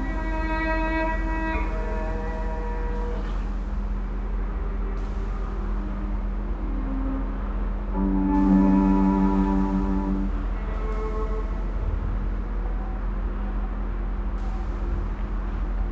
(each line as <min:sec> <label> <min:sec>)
0:00.0 incoming trains 0:15.9